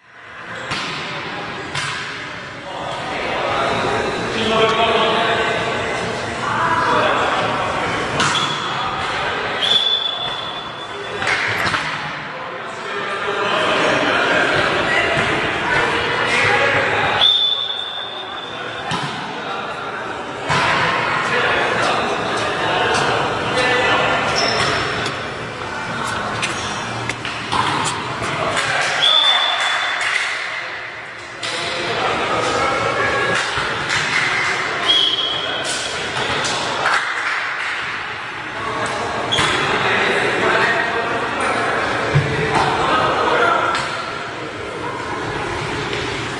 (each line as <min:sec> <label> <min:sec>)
0:00.4 volleyball match 0:46.3